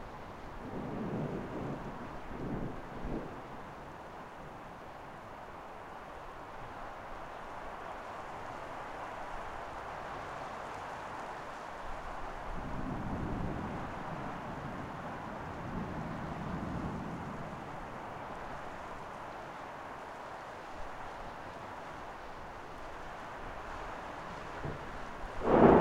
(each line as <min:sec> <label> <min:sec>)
0:00.0 rain 0:25.8